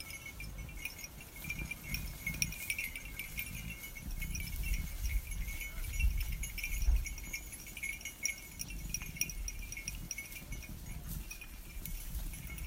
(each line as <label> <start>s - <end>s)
Sheeps Eating Grass 0.0s - 12.6s